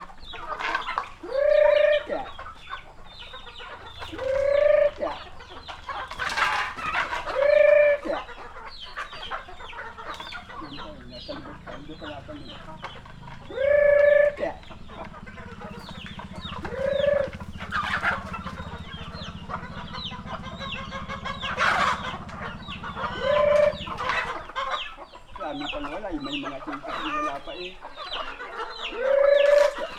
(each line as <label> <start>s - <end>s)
man feeding chickens 0.0s - 29.9s
motorcycle 2.3s - 7.0s
motorcycle 8.7s - 25.0s